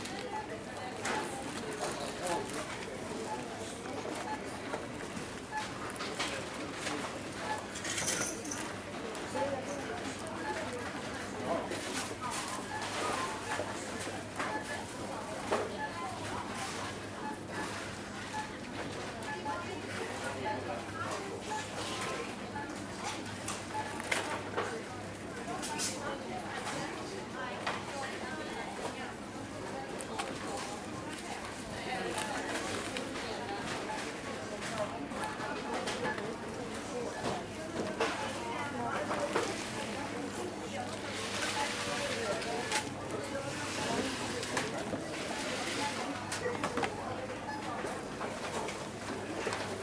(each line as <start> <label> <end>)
0.0 supermarkt cash desk 49.8